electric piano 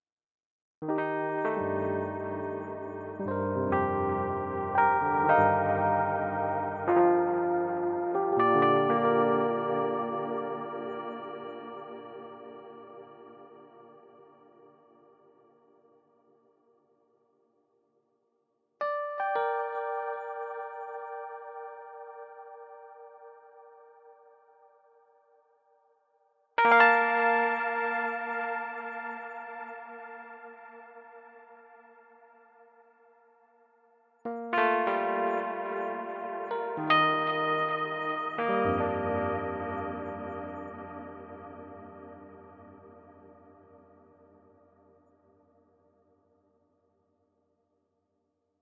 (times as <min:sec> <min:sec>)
0:00.8 0:15.3, 0:18.8 0:24.4, 0:26.6 0:31.9, 0:34.3 0:45.0